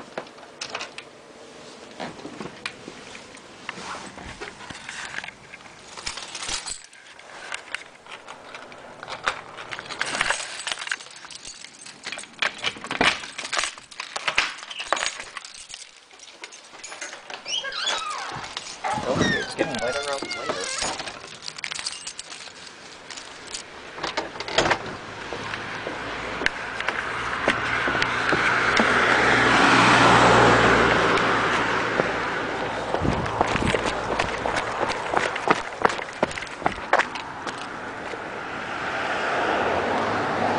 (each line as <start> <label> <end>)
0.0 traffic 40.5
17.0 door 21.2
24.1 door 24.9
25.2 footprints 29.3
31.3 footprints 38.2